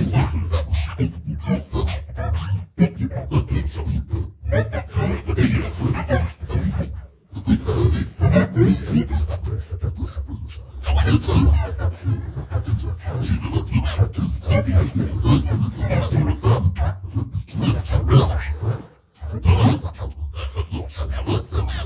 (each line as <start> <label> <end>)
0.0 demonic french voice 21.8